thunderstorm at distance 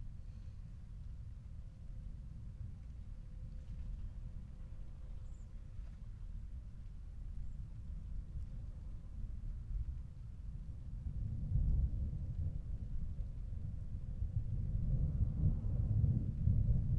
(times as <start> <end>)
11.0 16.9